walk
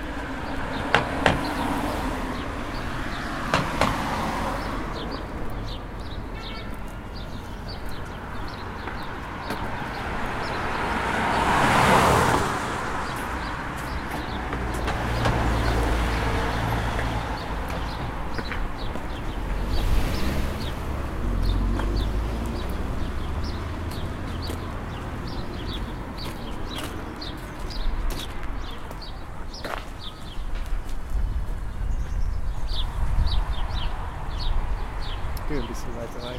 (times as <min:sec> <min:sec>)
0:06.6 0:10.4, 0:13.0 0:15.8, 0:16.9 0:19.4, 0:23.8 0:32.3